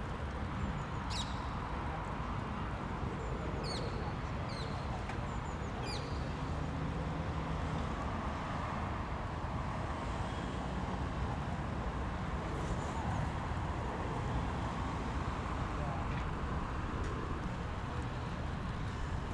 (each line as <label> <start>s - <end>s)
passersby walking on the wet gravel 1.6s - 3.1s
different types of birds 3.3s - 6.4s
passersby walking on the wet gravel 13.2s - 19.3s